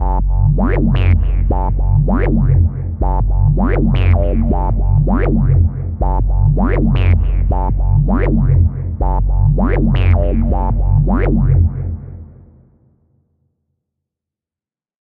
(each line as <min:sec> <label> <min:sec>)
0:00.0 bassline 0:12.5